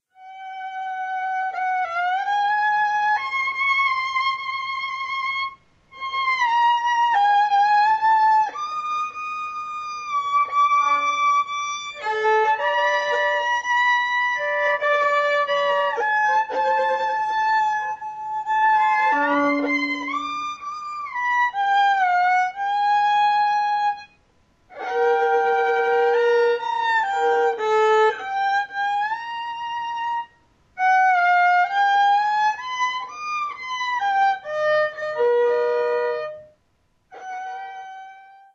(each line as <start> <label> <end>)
18.7 Voli playing 1 20.8